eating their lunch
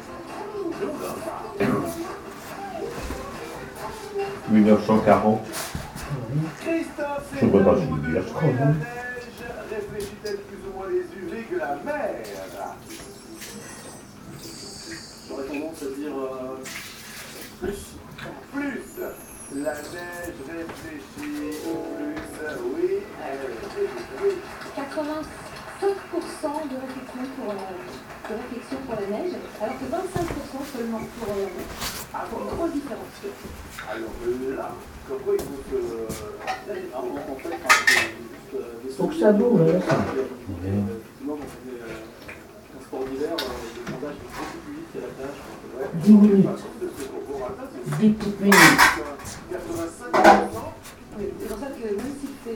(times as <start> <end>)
0.0 4.5